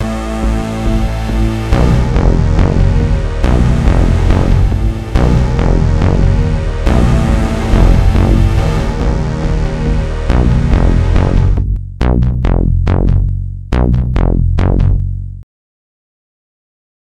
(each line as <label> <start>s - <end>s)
Tension music 0.0s - 15.4s